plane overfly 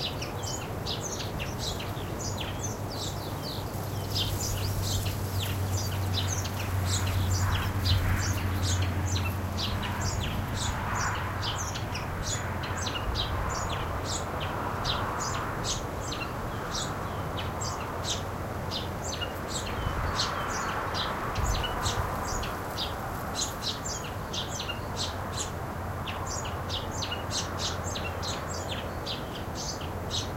2.7 18.1

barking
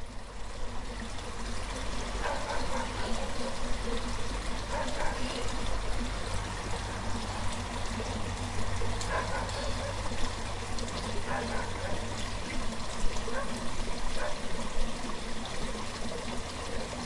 2.2 3.6, 4.7 5.3, 9.1 10.0, 11.3 12.0

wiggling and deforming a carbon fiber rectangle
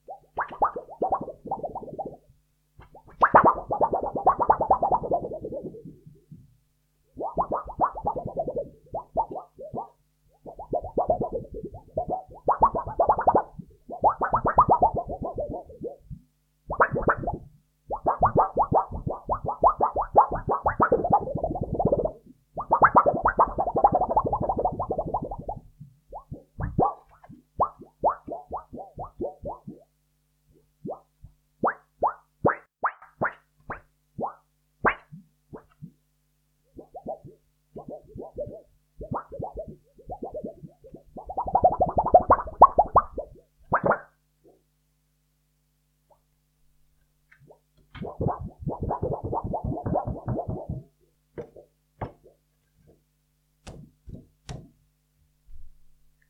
53.6 54.8

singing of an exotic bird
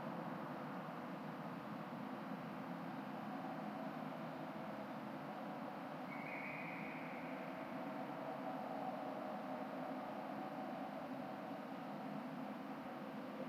6.1 7.3

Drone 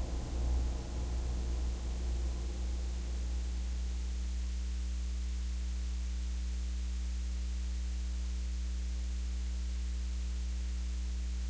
0.0 3.9

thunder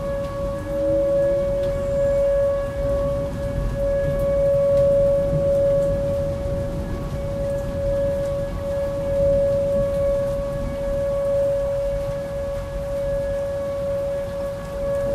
0.0 11.3

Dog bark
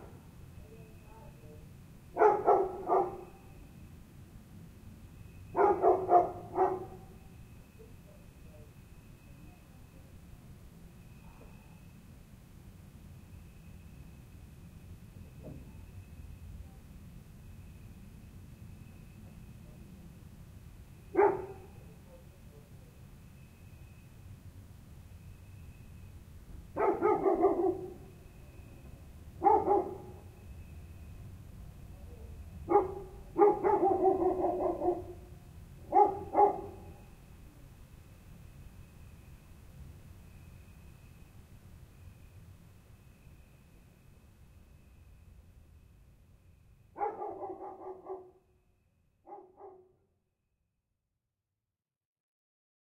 2.2 3.4, 5.6 7.1, 21.1 21.8, 26.8 28.1, 29.4 30.2, 32.7 37.0, 47.0 48.4, 49.2 50.0

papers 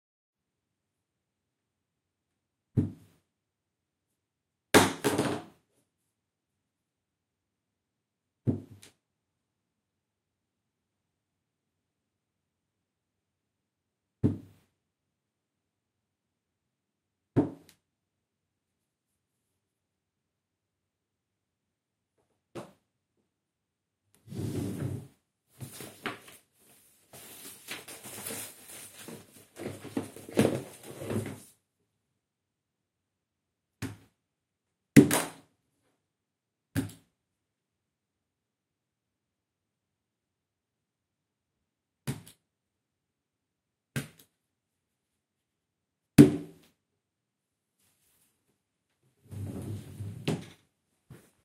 25.6 31.5

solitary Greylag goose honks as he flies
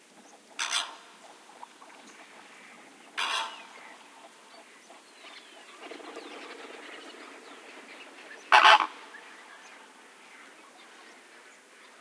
3.2 3.8, 8.5 9.1

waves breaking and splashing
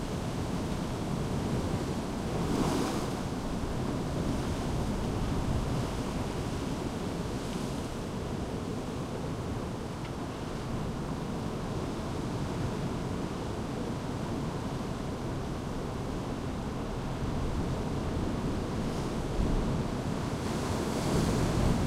0.4 8.6

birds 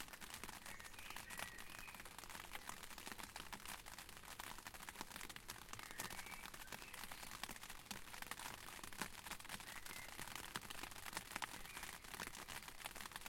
0.4 3.4, 5.2 8.6, 9.4 13.2

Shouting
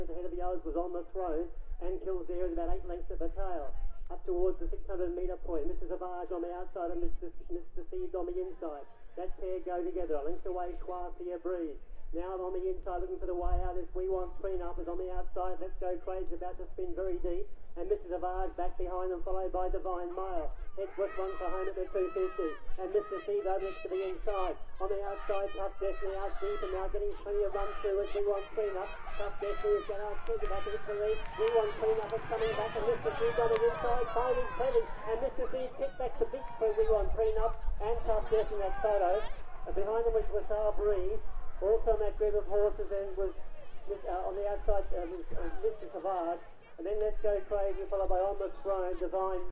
20.6 39.8

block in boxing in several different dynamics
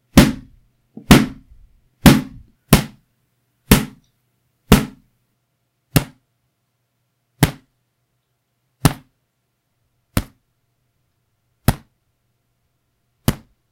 0.0 4.0, 4.6 5.1, 5.9 6.3, 7.4 7.8, 8.8 9.2, 10.1 10.5, 11.6 12.0, 13.2 13.7

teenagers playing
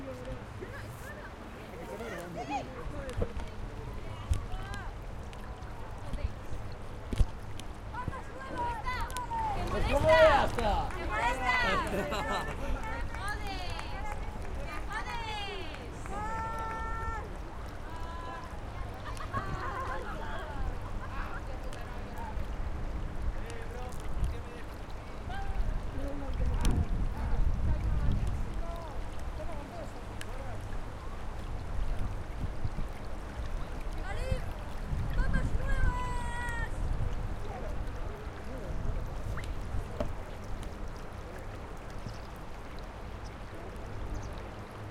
7.9 21.2

